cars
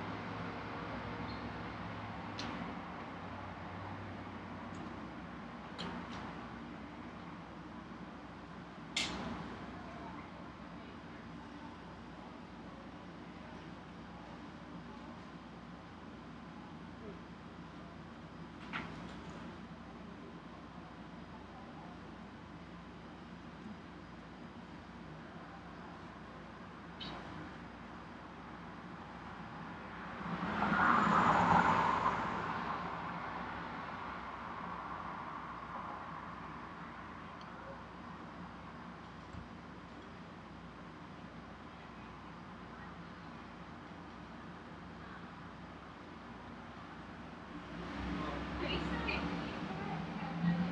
0.0 10.2, 26.6 50.7

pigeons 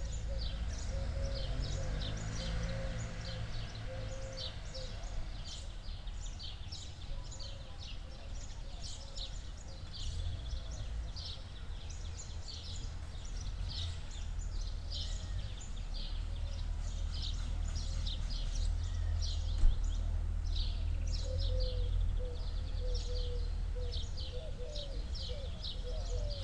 16.8 26.4

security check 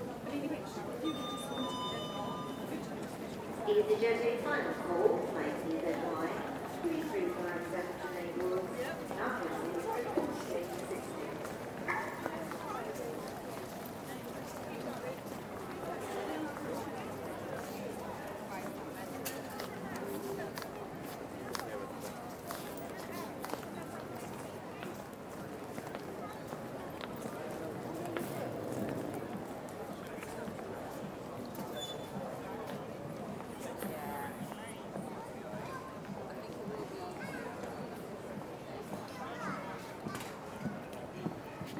1.0 2.9

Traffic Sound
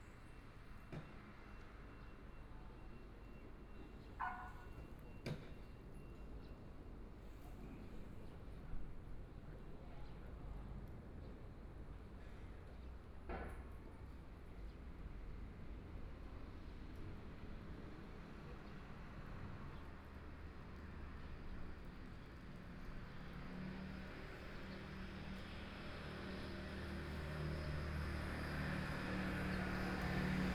20.8 30.5

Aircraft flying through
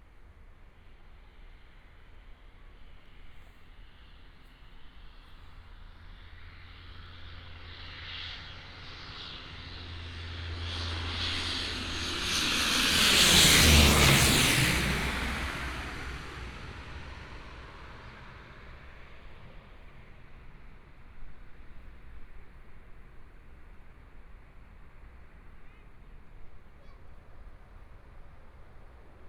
6.0 22.6

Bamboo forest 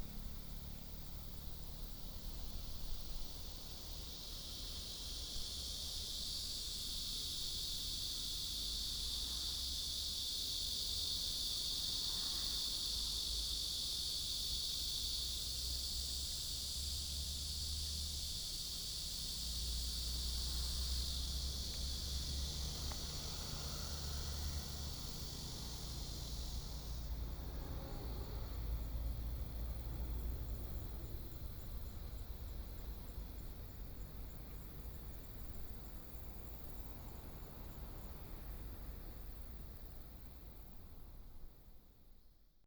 18.2 27.0

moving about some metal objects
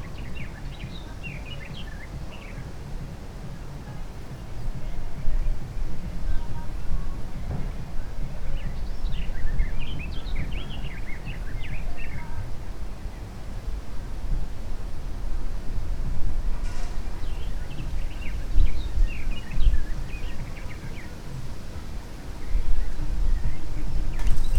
24.1 24.5

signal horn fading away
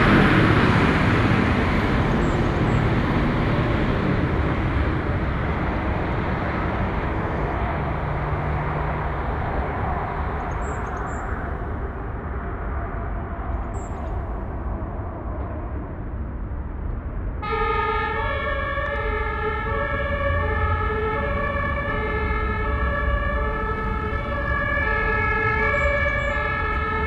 4.1 11.8, 17.4 27.0

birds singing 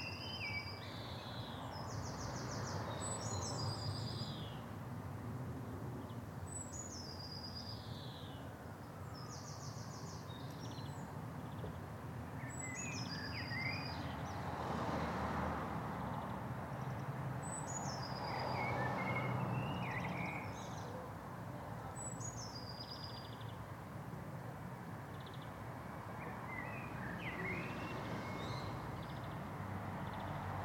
12.4 14.4, 16.8 21.1, 21.9 23.6, 26.2 29.4

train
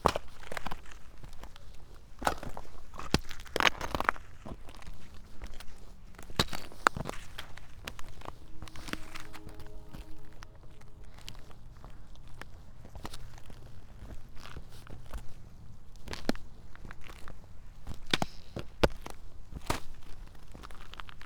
6.8 13.9

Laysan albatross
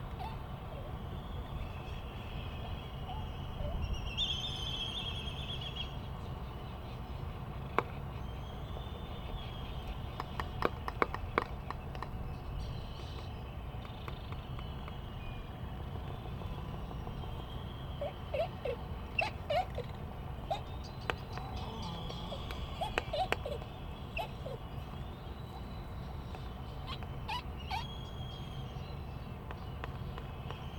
18.0 24.6

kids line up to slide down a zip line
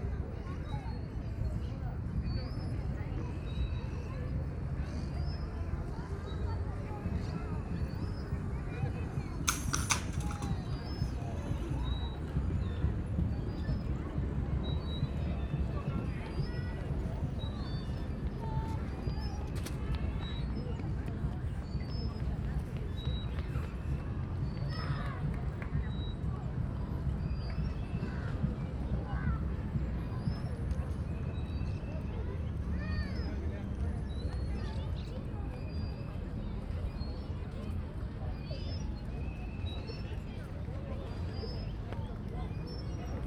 2.8 13.9

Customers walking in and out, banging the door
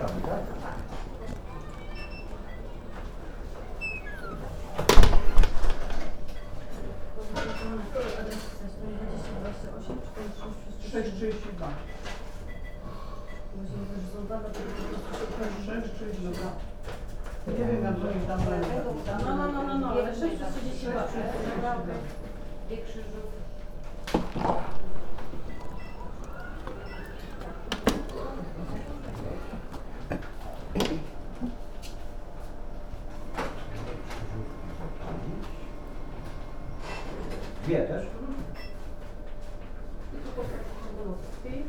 0.0 8.8, 23.5 39.8

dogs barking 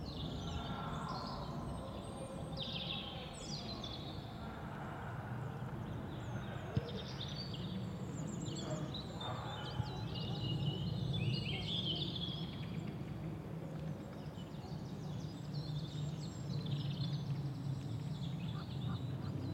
8.6 10.9

